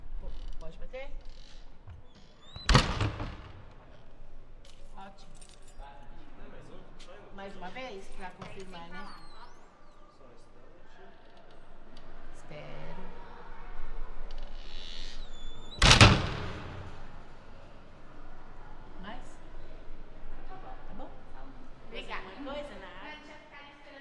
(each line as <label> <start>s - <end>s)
Wooden door opens and closes 1.2s - 4.0s
Wooden door opens and closes 14.4s - 17.2s